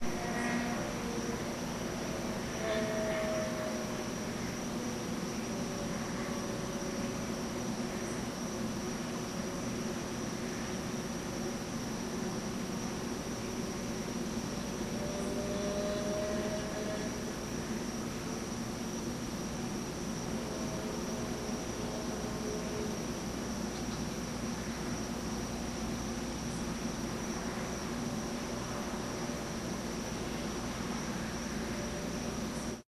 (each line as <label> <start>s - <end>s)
Motorcycle passes on the highway 14.6s - 17.4s